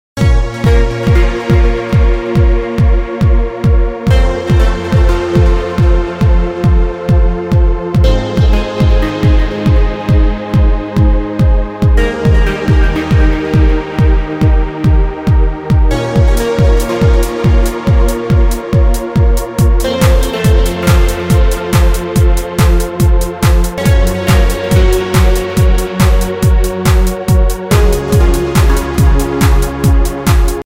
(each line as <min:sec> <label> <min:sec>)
0:00.2 Ambient-background-music-floating 0:30.6